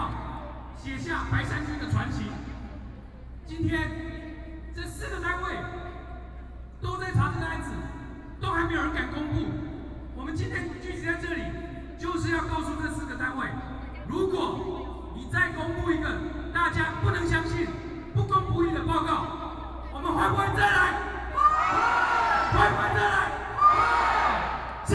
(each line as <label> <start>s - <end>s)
Protest Speech 10.2s - 24.9s
Shouting slogans 21.2s - 24.9s